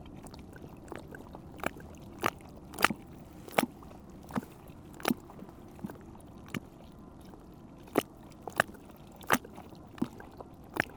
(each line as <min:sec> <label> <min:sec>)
0:00.0 river Seine makes small waves in a hole on the river bank 0:10.9